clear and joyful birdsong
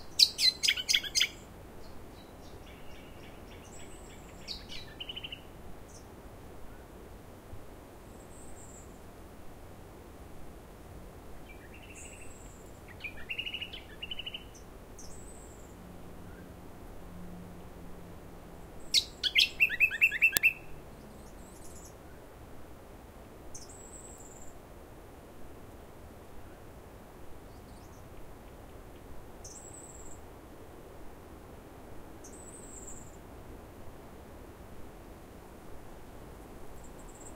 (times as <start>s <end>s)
0.0s 6.1s, 11.4s 16.6s, 18.8s 22.0s, 27.5s 30.2s